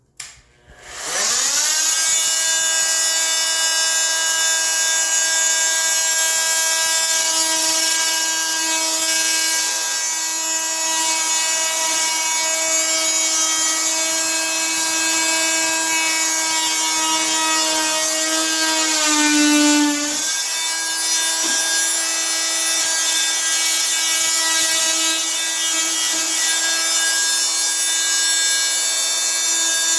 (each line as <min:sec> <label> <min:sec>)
0:00.6 paddle saw starting, cutting wall and turning off 0:29.9